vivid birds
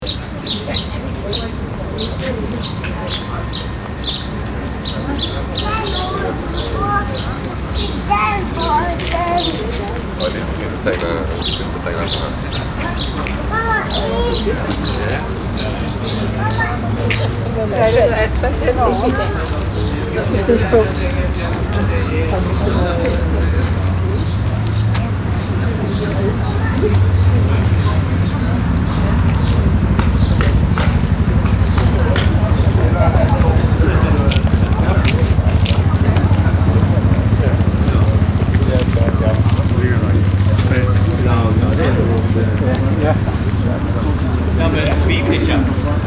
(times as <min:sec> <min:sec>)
0:00.0 0:22.8